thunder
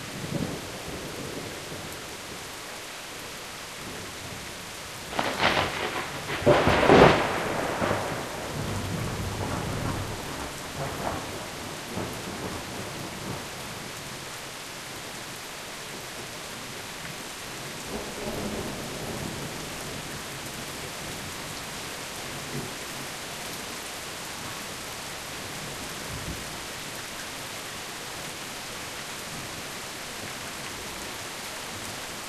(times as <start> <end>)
5.1 13.4